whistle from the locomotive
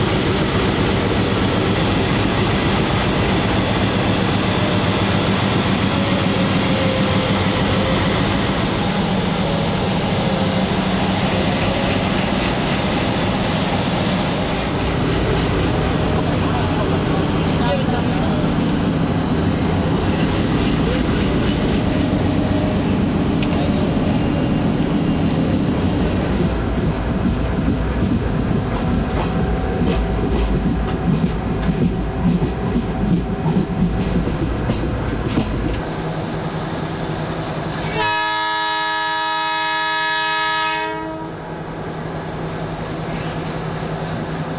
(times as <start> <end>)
37.9 41.4